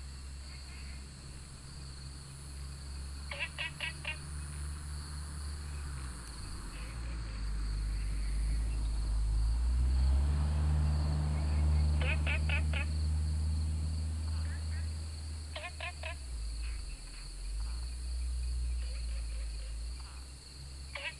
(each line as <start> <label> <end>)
0.0 Insects called 21.1
0.1 Frogs chirping 21.1